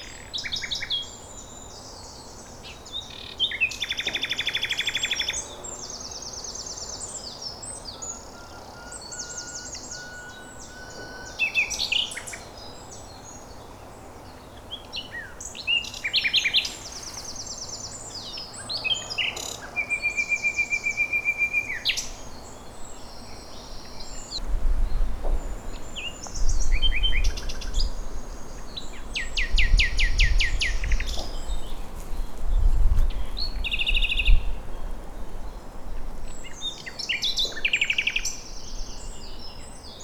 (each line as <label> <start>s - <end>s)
Nightingale 14.3s - 24.4s